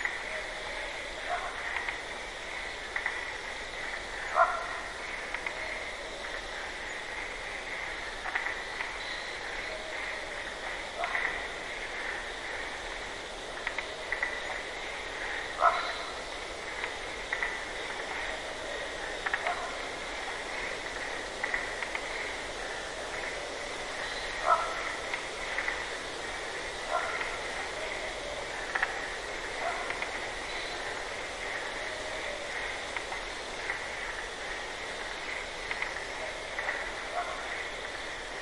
Barking Marsh Frog 0:00.0 - 0:12.7
crickets 0:00.0 - 0:38.4
Barking Marsh Frog 0:13.6 - 0:38.4

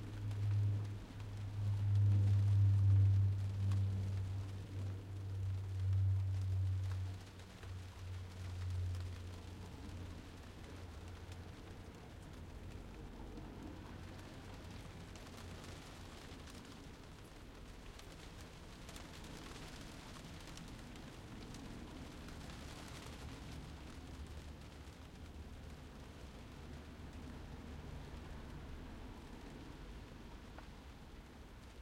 aeroplane passes 0:00.0 - 0:16.4
Soft rain on a tile roof 0:00.0 - 0:31.8

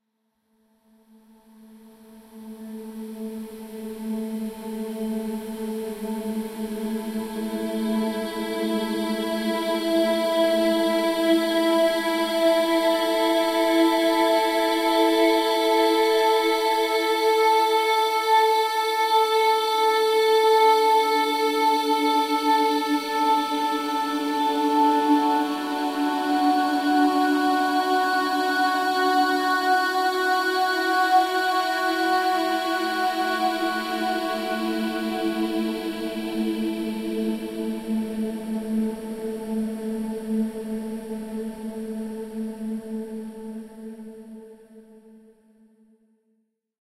ethereal sound made by processing female singing 0:02.0 - 0:44.6

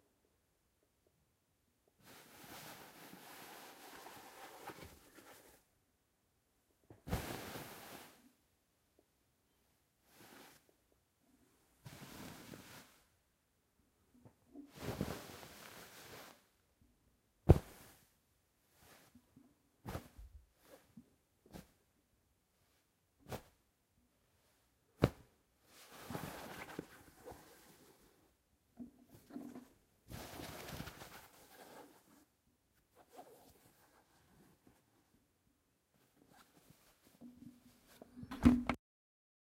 bed sheets moving hitting scratching 0:17.5 - 0:18.0

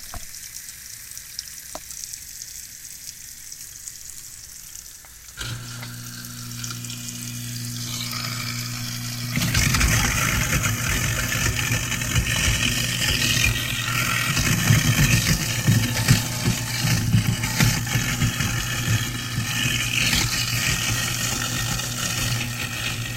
water running 0:00.0 - 0:23.1
sink garbage disposal 0:04.9 - 0:23.1

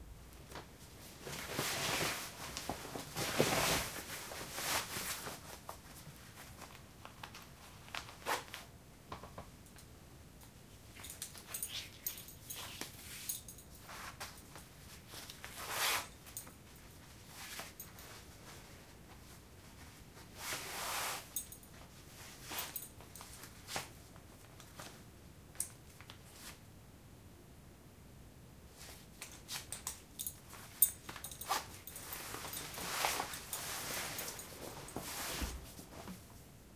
putting on a leather belt 0:01.2 - 0:08.6
putting on a leather belt 0:10.9 - 0:16.6
putting on a leather belt 0:28.8 - 0:36.2
Dressing jeans 0:29.3 - 0:36.2

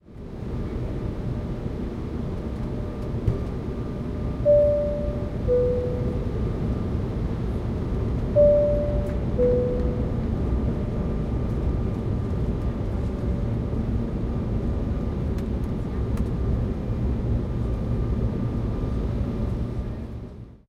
airplane 0:00.0 - 0:20.6
airplane seat sign beeping 0:04.4 - 0:06.4
airplane seat sign beeping 0:08.4 - 0:10.4

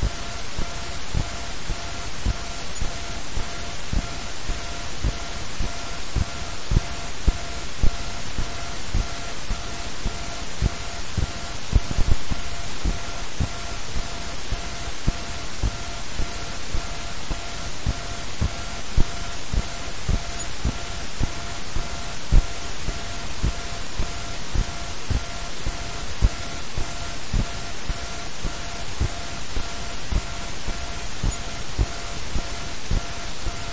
hum 0:00.0 - 0:33.7

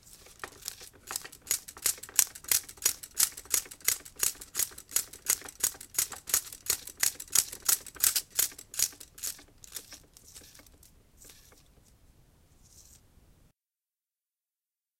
8mm film flopping manual 0:00.0 - 0:11.8

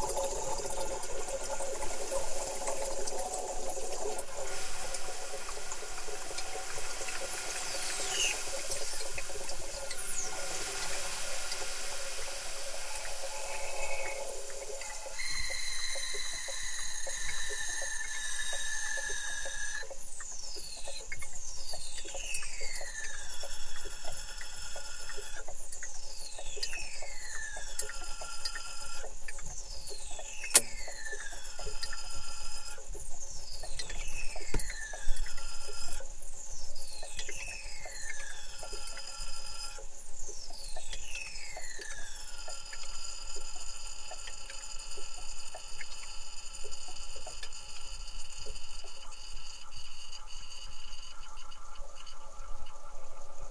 hiss 0:04.2 - 0:19.8

